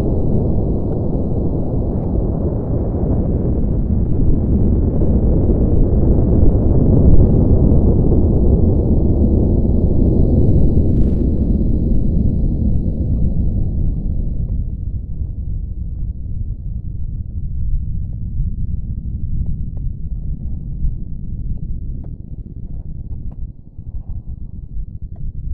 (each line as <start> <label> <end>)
0.0 earth opening up 15.5